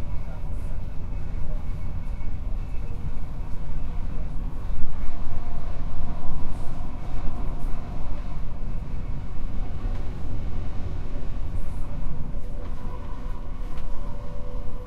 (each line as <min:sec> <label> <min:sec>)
0:00.0 Train interior 0:14.8